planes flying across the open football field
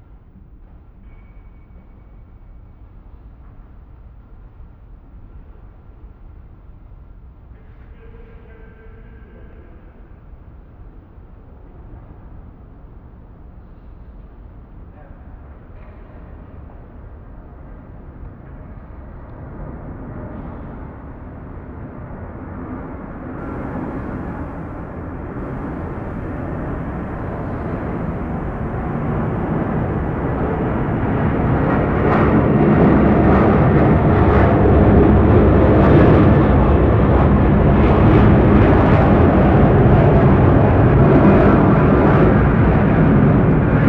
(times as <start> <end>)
23.4 43.8